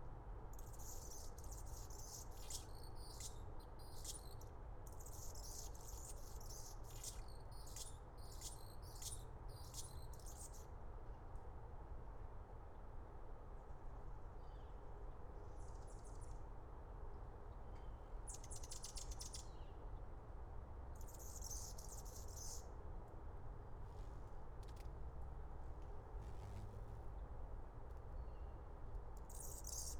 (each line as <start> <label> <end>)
21.0 hummingbird chirps a song 22.6
29.3 hummingbird chirps a song 29.9